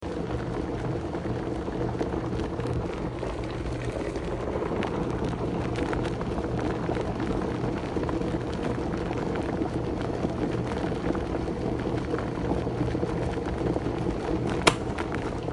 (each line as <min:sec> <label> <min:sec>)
0:00.0 Electric kettle boiling 0:15.5
0:14.6 switch being turned off 0:14.9